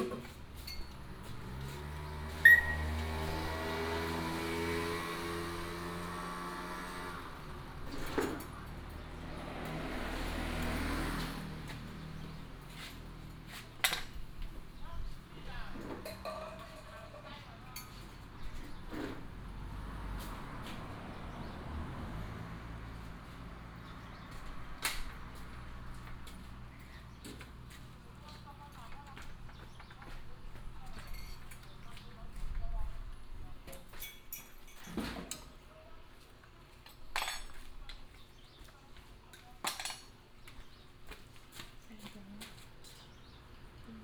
Traffic sound 0.0 - 44.0

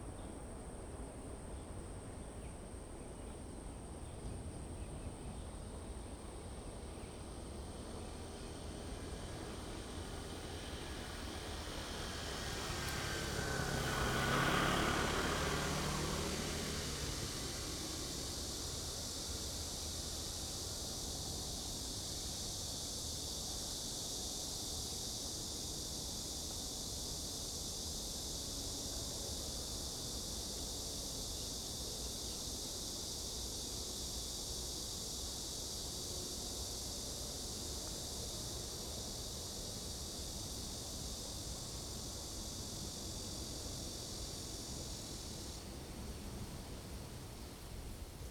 wind 0.0 - 48.3
Cicada sound 3.9 - 48.3
plane flew through 10.0 - 18.7

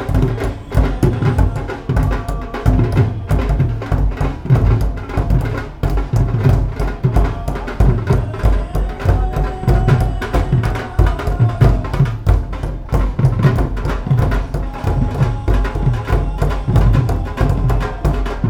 town hymn singing 0.0 - 18.4

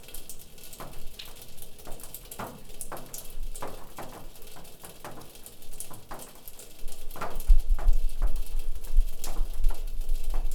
snow is melting from the rooftop 0.0 - 10.5

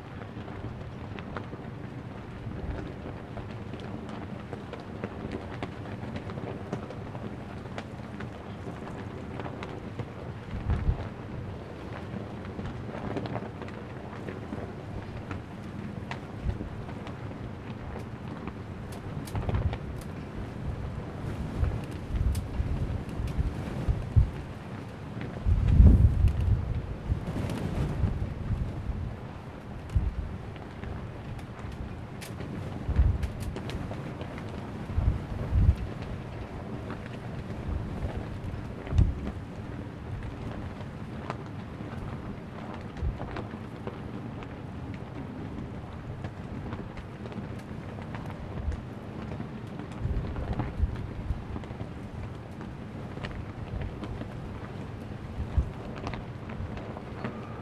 Very large flag in the wind and rain 0.0 - 57.6

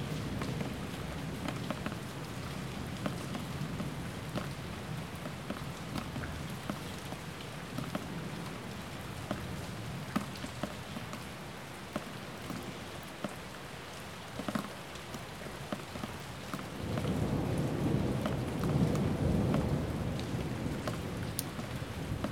Rain 0.0 - 22.3
thunderstorm 16.6 - 22.3

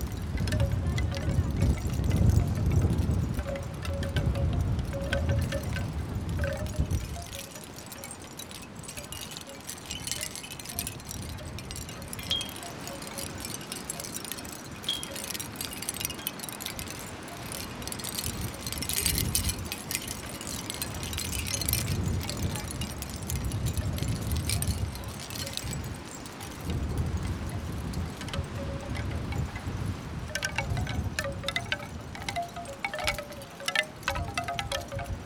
wooden and shell wind bells winging in the strong wind 0.0 - 35.2

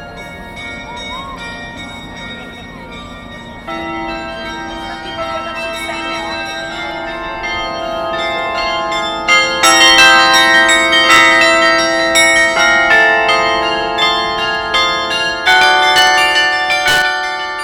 carillon 0.0 - 17.6

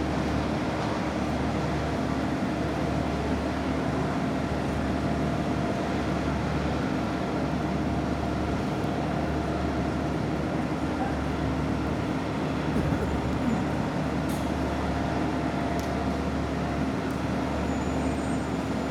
hum of all the different machinery and vehicles operating on the runway 0.0 - 18.9
drops of water reverberated of the terminal walls 0.0 - 18.9
passengers 8.3 - 17.5

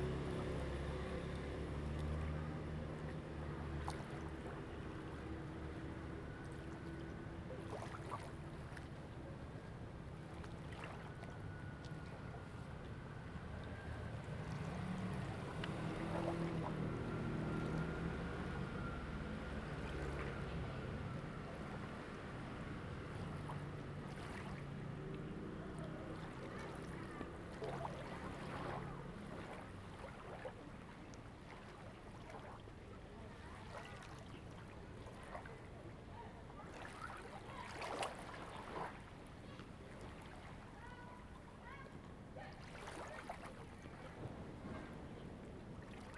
Waves and tides 0.0 - 46.1

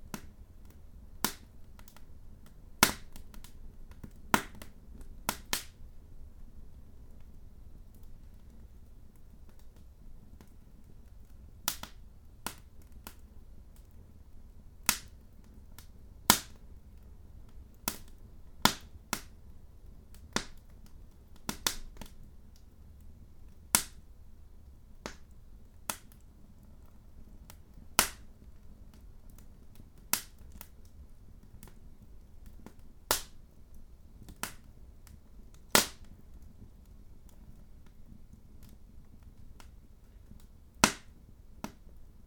lighting a fire 0.0 - 5.9
lighting a fire 7.0 - 42.2

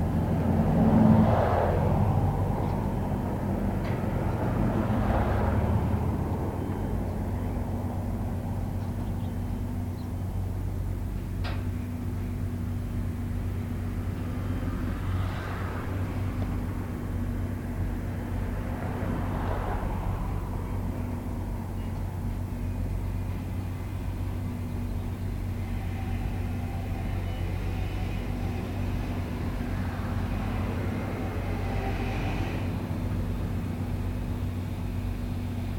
Road traffic 0.0 - 35.7
new building construction 20.3 - 35.7

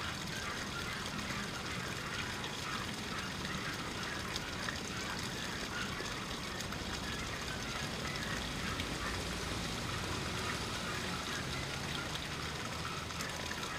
basic fountain splashes 0.0 - 13.7

